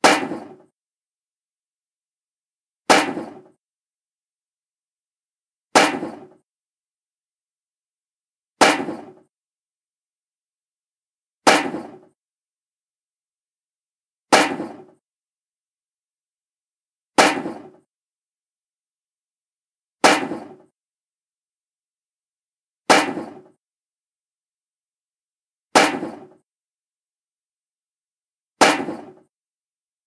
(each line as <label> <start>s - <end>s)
table slam 0.0s - 0.7s
table slam 2.9s - 3.6s
table slam 5.8s - 6.4s
table slam 8.6s - 9.2s
table slam 11.5s - 12.1s
table slam 14.4s - 15.0s
table slam 17.2s - 17.8s
table slam 20.0s - 20.7s
table slam 22.9s - 23.6s
table slam 25.8s - 26.4s
table slam 28.6s - 29.2s